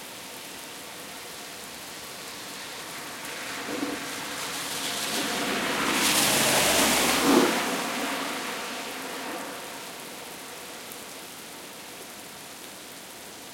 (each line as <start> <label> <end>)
0.0 rain 13.5
2.1 car 11.0